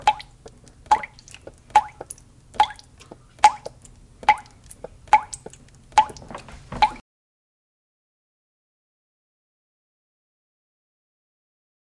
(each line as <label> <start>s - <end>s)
Water Driping 0.0s - 7.0s
toilet 0.0s - 7.0s